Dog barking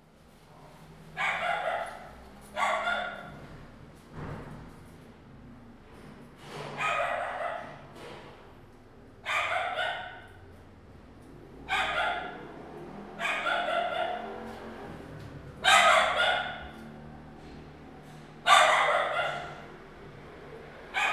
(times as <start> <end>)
1.2 3.4, 6.8 7.8, 9.2 10.4, 11.7 14.5, 15.6 16.8, 18.4 19.8, 20.9 21.1